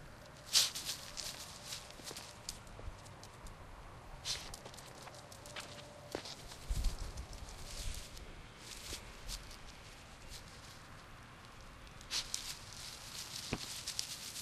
walking 0.0 - 14.4

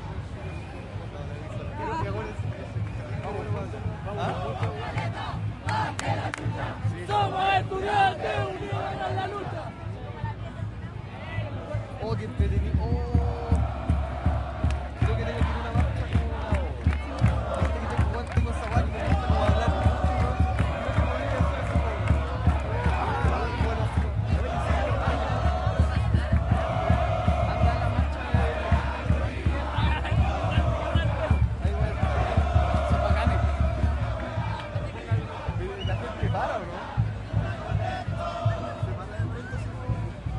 crowd 0.0 - 40.3
conversaciones 0.5 - 40.3
drums 12.3 - 40.3

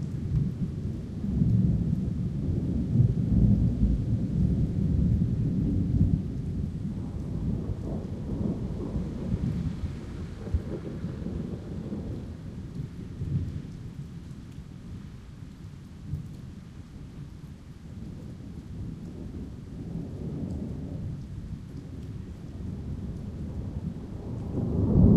rain 0.0 - 25.1
wind 0.0 - 25.1
thunder 0.2 - 13.7
thunder 22.7 - 25.1

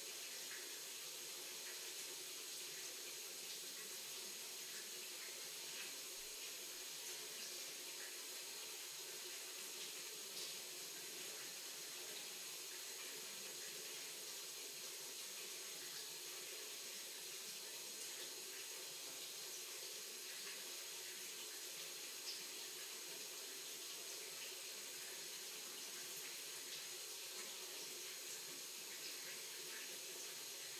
water-pipe stream 0.0 - 30.7

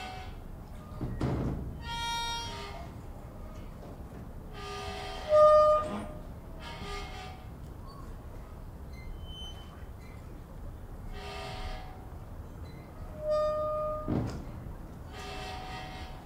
creak 4.5 - 8.2
creak 8.9 - 10.4
creak 11.2 - 16.2

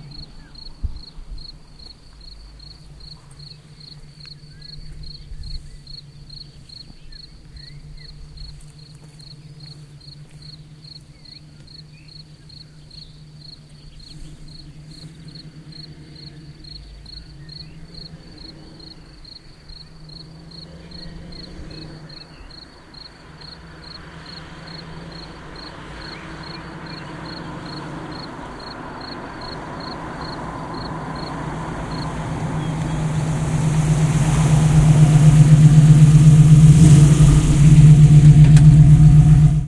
Sportscar Mustang 0.0 - 39.6

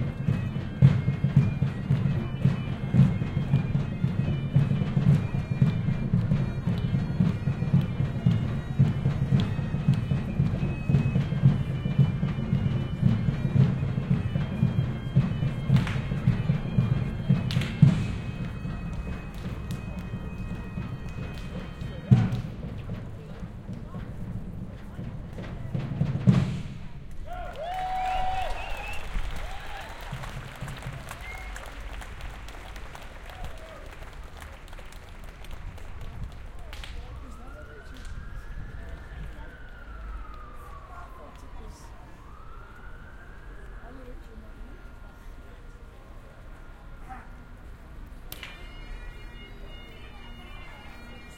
bagpipes 0.0 - 26.8
drums 0.0 - 34.1
bagpipes 28.2 - 51.3

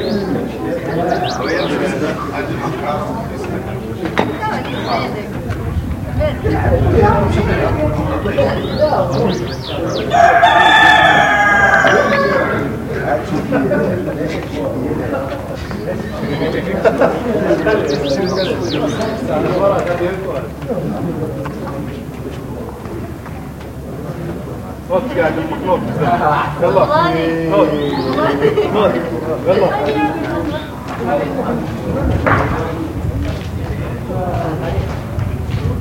young voices 0.0 - 35.8
laughs 16.7 - 17.8

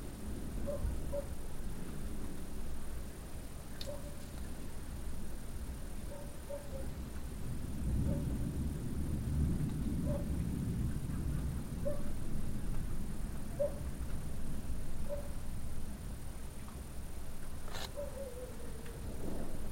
rain 0.0 - 19.7
wind 0.0 - 19.7
thunder 7.7 - 11.9
thunder 19.0 - 19.7

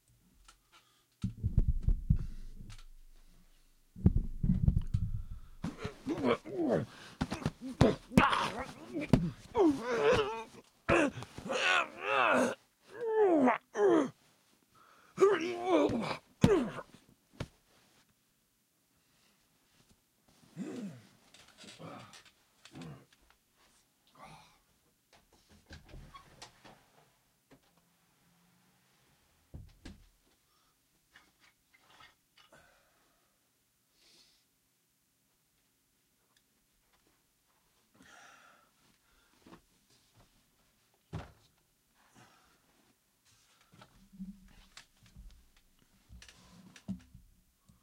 wrestling with a large cushion 4.0 - 12.6
wrestling with a large cushion 15.5 - 17.7

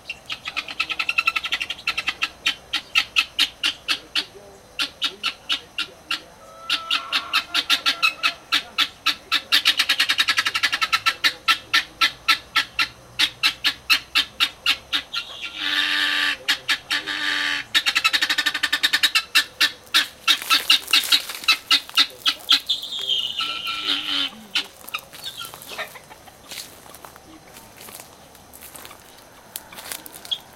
call from the Helmeted Guineafowl 0.0 - 30.5

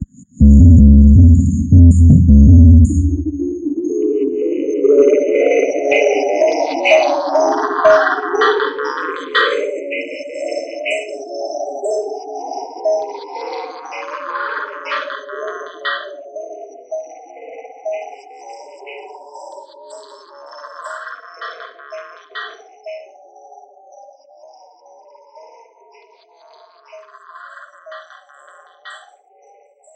drum synth 0.0 - 3.6

